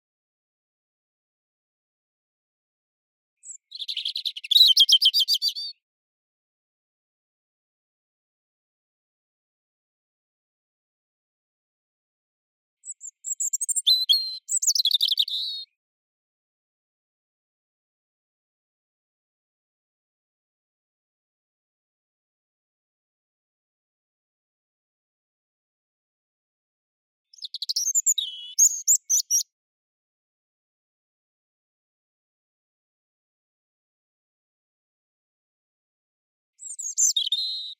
robin birdsong 3.4 - 5.8
robin birdsong 12.8 - 15.7
robin birdsong 27.3 - 29.4
robin birdsong 36.6 - 37.7

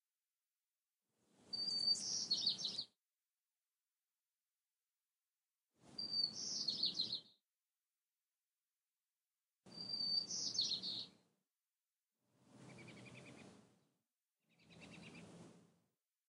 Purple Finch 1.5 - 2.9
Purple Finch 5.9 - 7.3
Purple Finch 9.7 - 11.2
Purple Finch 12.6 - 13.5
Purple Finch 14.6 - 15.4

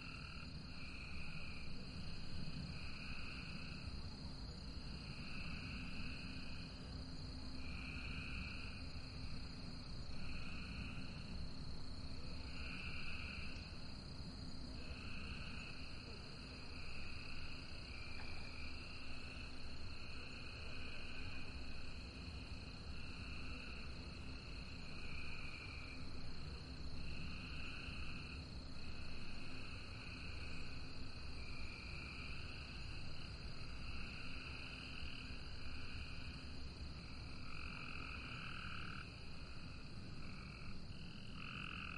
Cicadas 0.0 - 41.9
Frogs 0.0 - 41.9

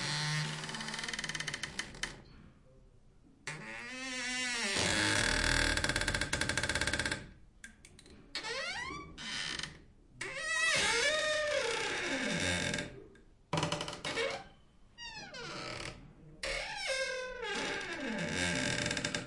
wood door closet cabinet armoir open close creak 16.6 - 19.2

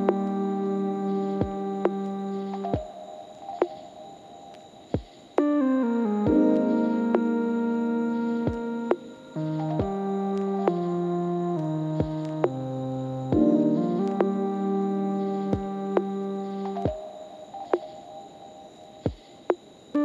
beat 15.5 - 16.1

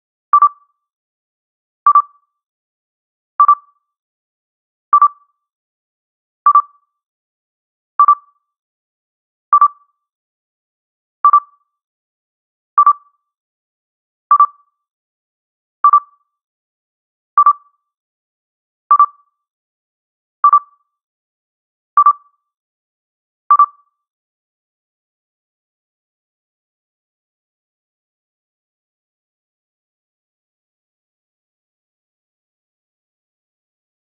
scanner blip 0.4 - 0.7
scanner blip 1.9 - 2.2
scanner blip 3.4 - 3.7
scanner blip 5.0 - 5.3
scanner blip 8.0 - 8.4
scanner blip 9.6 - 9.9
scanner blip 11.2 - 11.6
scanner blip 12.8 - 13.1
scanner blip 14.3 - 14.7
scanner blip 15.8 - 16.2
scanner blip 17.4 - 17.8
scanner blip 18.9 - 19.3
scanner blip 20.4 - 20.8
scanner blip 22.0 - 22.4
scanner blip 23.5 - 23.9

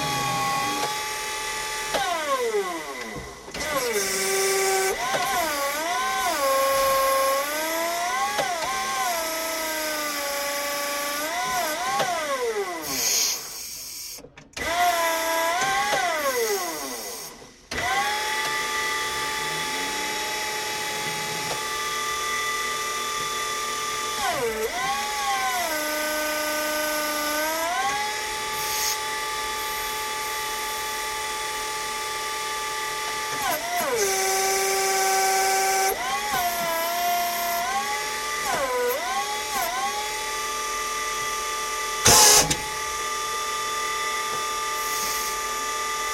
hydraulic movement 0.0 - 6.3
forklift 0.0 - 9.4
forklift 11.2 - 31.4
hydraulic movement 11.3 - 23.4
forklift 32.4 - 46.1
hydraulic movement 42.0 - 43.1

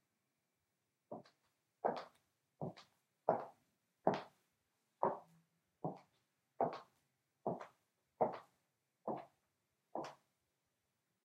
Steps in high heels 1.1 - 4.4
Steps in high heels 5.0 - 8.5

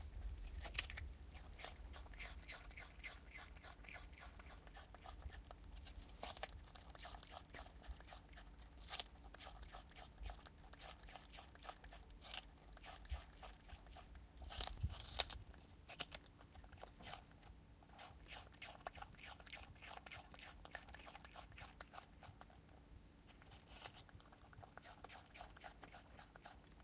Brushtail possum (Trichosurus vulpecula) eats an apple 0.0 - 26.8

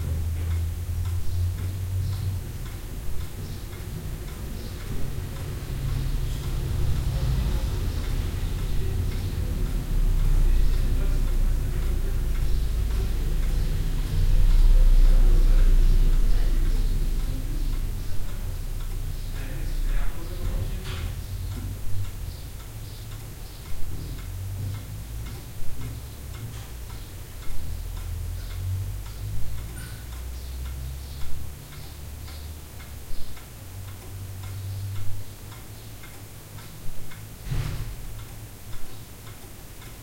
clock 0.0 - 40.0

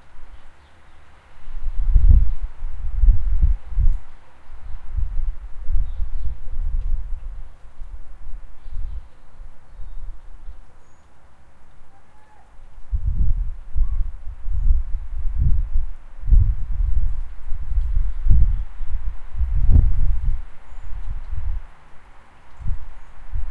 bird song 0.0 - 2.5
traffic noise 0.0 - 2.9
wind 0.0 - 23.5
bird song 3.4 - 12.6
bird song 13.6 - 23.4
traffic noise 20.2 - 23.5

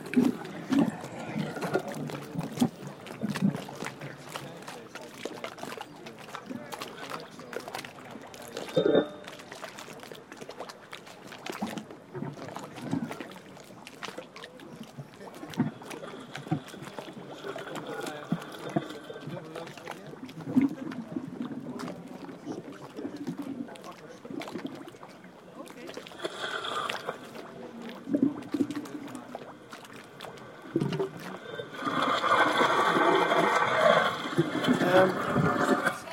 boats 0.0 - 36.1
splashing 0.0 - 36.1
watery computer-manipulated sounds from the speakers 0.0 - 36.1

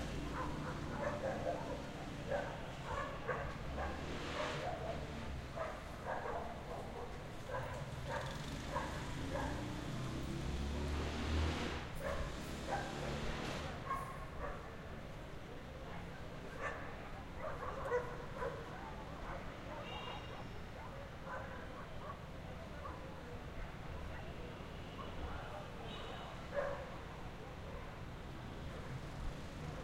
motorbikes 0.0 - 14.4
Dogs 0.1 - 9.9
Dogs 12.0 - 13.0
Dogs 13.7 - 14.9
Dogs 15.8 - 29.1
motorbikes 23.4 - 29.8

